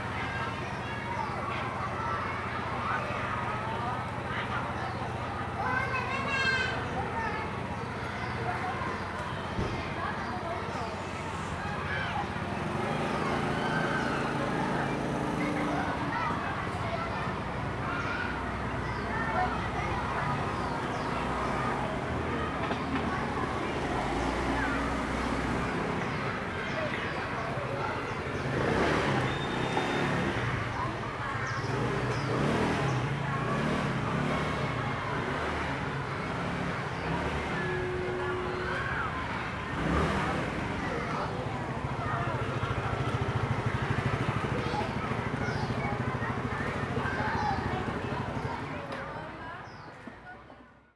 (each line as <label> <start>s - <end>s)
Traffic Sound 0.0s - 50.8s
Many elementary school students 0.0s - 50.9s